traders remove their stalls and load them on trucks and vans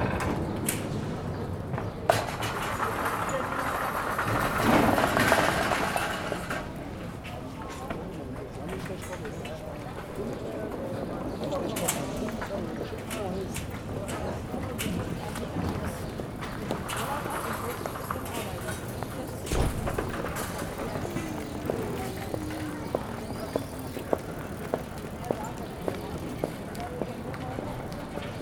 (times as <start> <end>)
0.0 7.4, 13.0 24.6